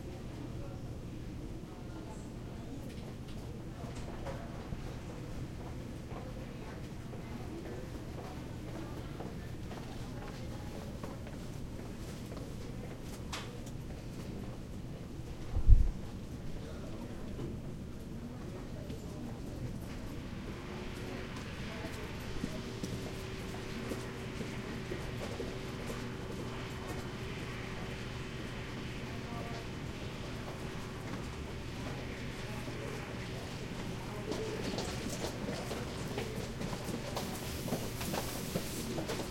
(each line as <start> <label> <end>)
2.7 footsteps people walk past 39.3
16.3 distant voices 39.3